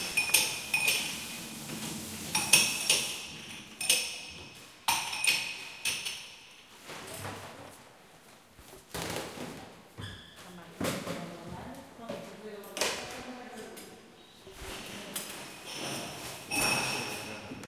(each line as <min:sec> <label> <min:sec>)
0:00.0 glasses 0:01.3
0:15.5 glasses 0:17.6